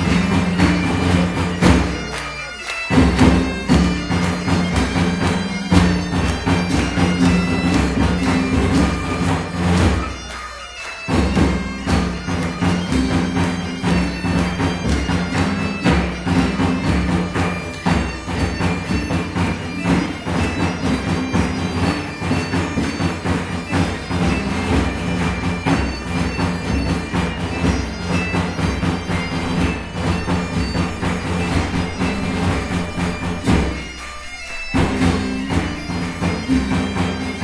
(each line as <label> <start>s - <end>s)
Medieval Music 0.0s - 37.4s